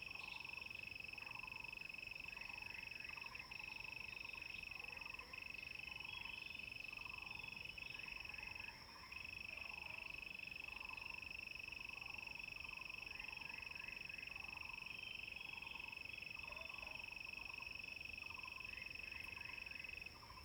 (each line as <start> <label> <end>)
12.7 Insects sounds 20.4